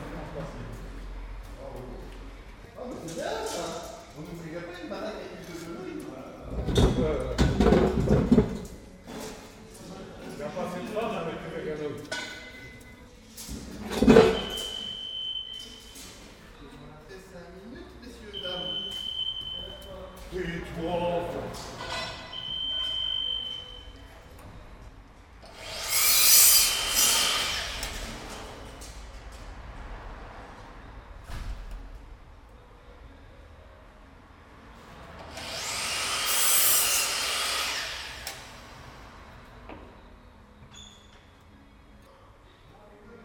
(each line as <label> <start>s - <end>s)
People working 0.0s - 43.2s
they store traffic signs 11.9s - 25.3s